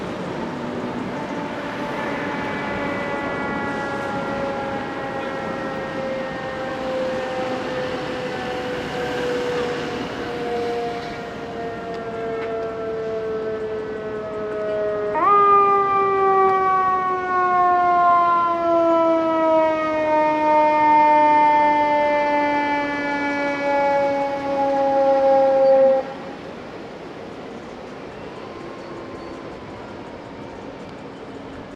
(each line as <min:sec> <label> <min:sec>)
0:00.0 siren 0:31.7
0:01.0 firetruck horn 0:26.4